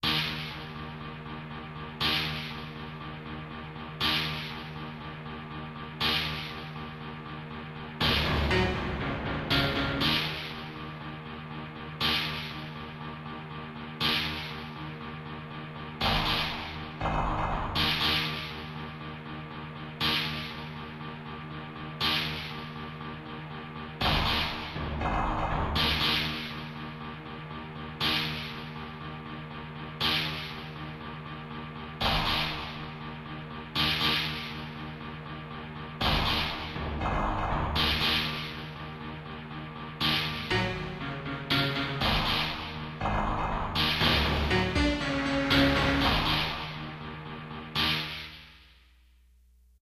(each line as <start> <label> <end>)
0.0 Short electronic percussive piece 0.6
8.0 Short electronic percussive piece 11.0
16.0 Short electronic percussive piece 18.6
24.0 Short electronic percussive piece 26.7
32.0 Short electronic percussive piece 33.0
36.0 Short electronic percussive piece 38.8
40.0 Short electronic percussive piece 48.6